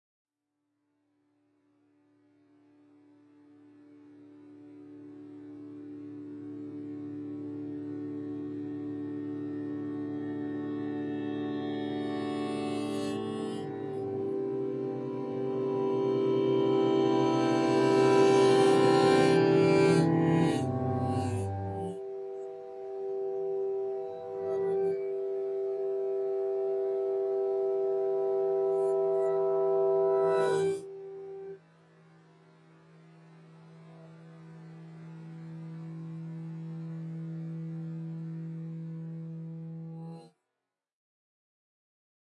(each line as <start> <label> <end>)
13.7 Contrasting Major and Minor Tones 31.6